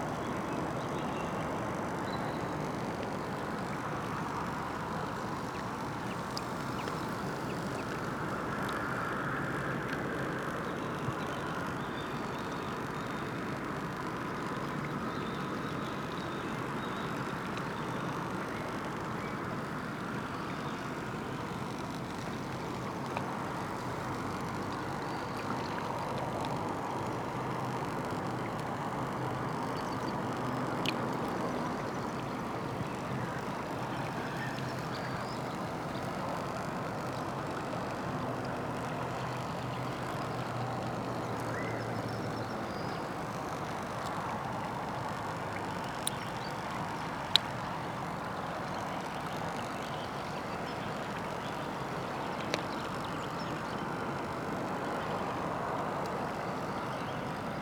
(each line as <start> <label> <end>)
0.0 river flow 57.6